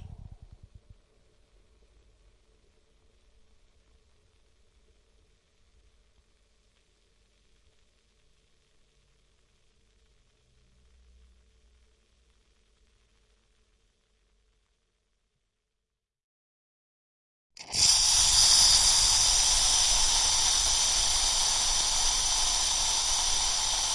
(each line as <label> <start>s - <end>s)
coffee bubbling through 17.6s - 23.9s
milk being frothed 17.6s - 23.9s
steam pressure trapped in the water reservoir being vented 17.6s - 23.9s